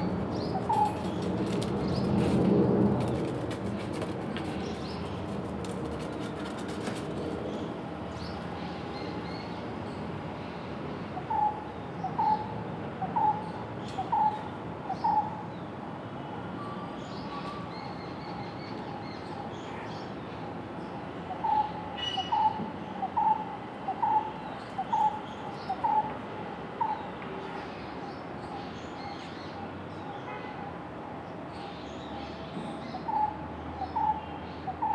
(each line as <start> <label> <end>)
1.0 planes flying above it 8.0